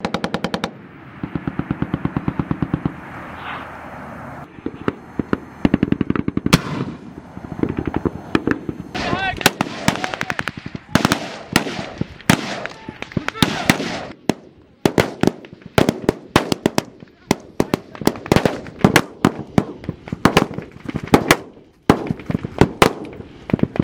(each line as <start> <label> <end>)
4.6 gun 7.0
7.6 gun 23.8